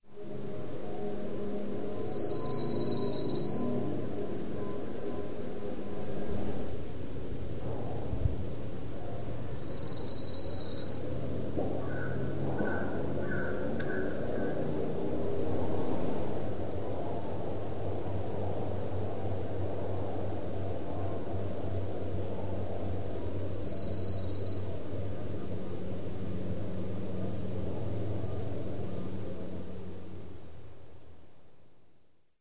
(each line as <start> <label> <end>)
1.8 trilling song of the Pine Warbler 3.7
9.2 trilling song of the Pine Warbler 11.0
11.8 trilling song of the Pine Warbler 14.8
23.2 trilling song of the Pine Warbler 24.8